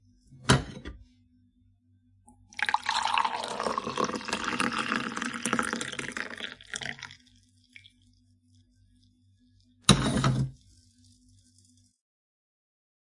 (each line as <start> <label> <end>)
0.4 putting the coffee pot back 1.0
2.4 pouring coffee 8.7
9.9 putting the coffee pot back 10.6